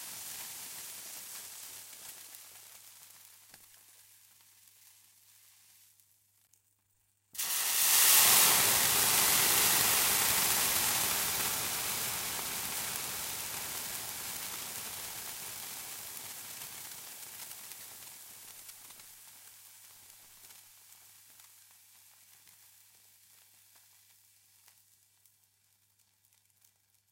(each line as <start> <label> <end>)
7.4 water poured on stove 12.7